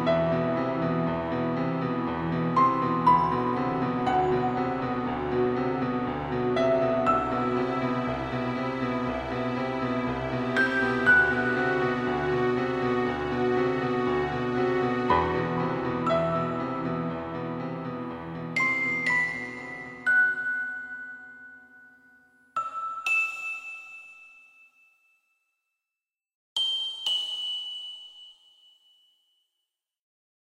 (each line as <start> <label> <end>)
0.0 strings 20.1
0.0 piano 24.3